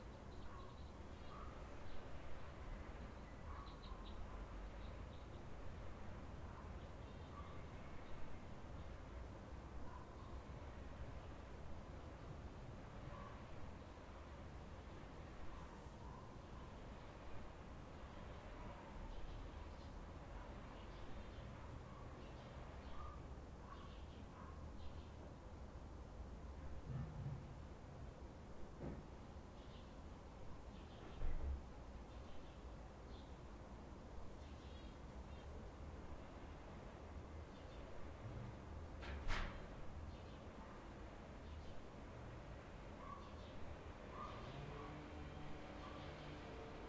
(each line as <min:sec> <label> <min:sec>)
0:44.1 Motorway 0:46.8